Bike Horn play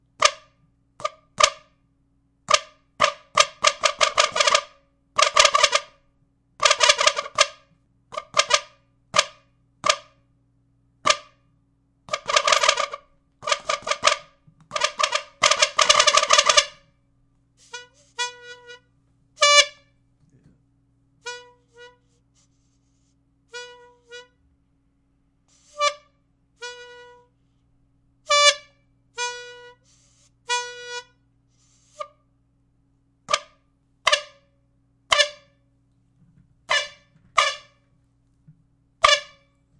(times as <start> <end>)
0.1 1.8, 2.5 10.2, 11.0 11.5, 12.1 17.0, 17.6 20.0, 21.2 22.6, 23.5 24.5, 25.5 27.4, 28.3 32.2, 33.3 35.6, 36.6 37.9, 39.0 39.7